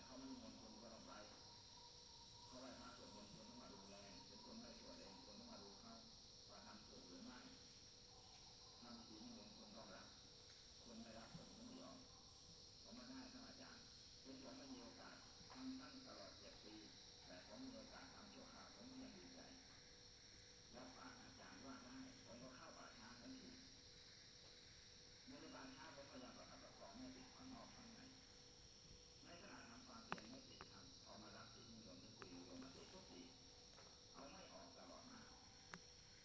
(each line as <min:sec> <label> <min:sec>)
0:00.0 radio 0:01.4
0:02.5 radio 0:07.6
0:10.9 radio 0:12.1
0:12.9 radio 0:19.6
0:20.7 radio 0:23.6
0:25.3 radio 0:28.2
0:29.2 radio 0:35.8